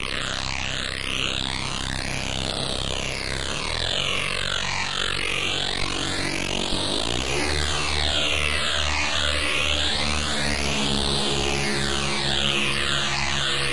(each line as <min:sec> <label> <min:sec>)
0:03.4 Reese synth 0:13.7